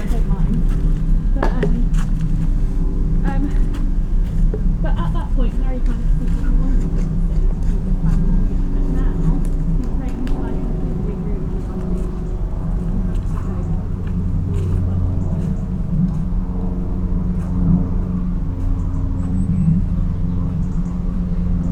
0.0s A plane flies over 21.7s
0.0s windy 21.7s
4.8s mother sits talking on the phone 12.1s

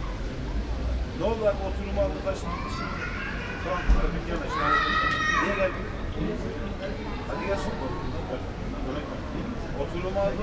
2.4s child voices 3.9s

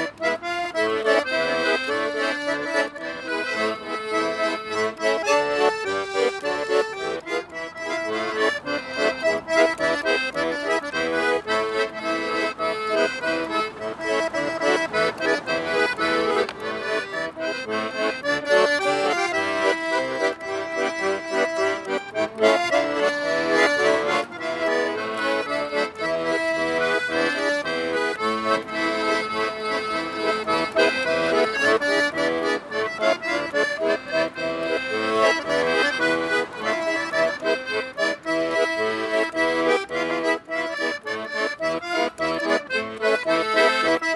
0.0s plays accordion 44.1s

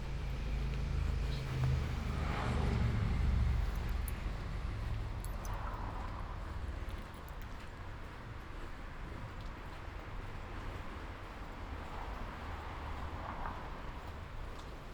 0.0s Walking to outdoor market 14.9s

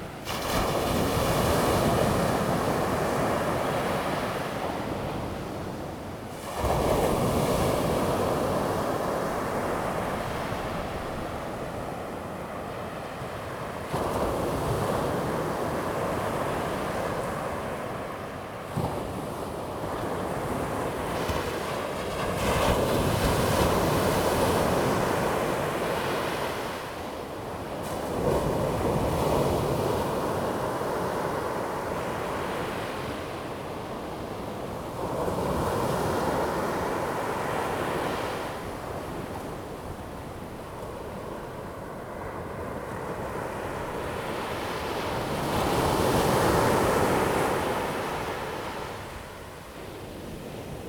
0.0s waves 50.8s

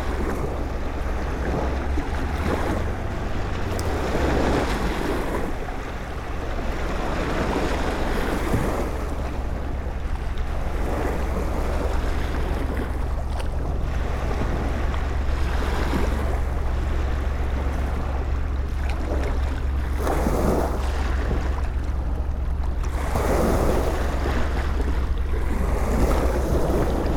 0.0s big boat is passing by the river 27.1s
0.0s river is flowing backwards 27.1s

